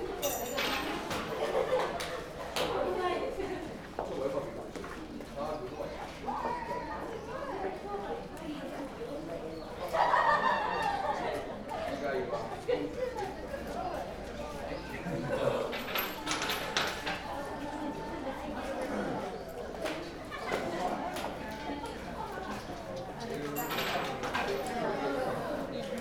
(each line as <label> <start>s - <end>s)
throws a coin into a box 23.6s - 24.6s